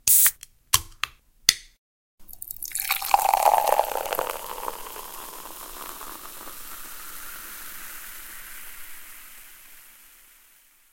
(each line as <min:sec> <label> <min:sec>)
0:00.1 Opening can pouring 0:00.4
0:02.3 Opening can pouring 0:07.1